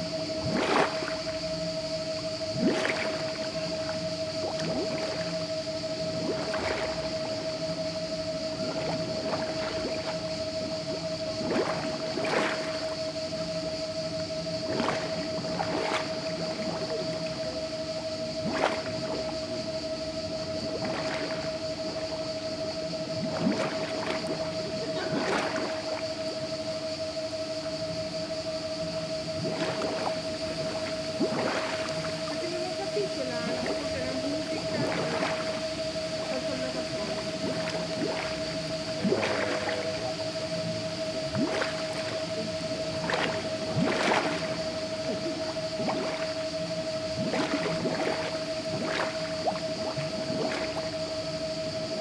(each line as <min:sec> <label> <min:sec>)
0:00.0 Water bubbling in the canal 0:52.0
0:00.0 crickets 0:52.0
0:00.0 drone of the water pump 0:52.0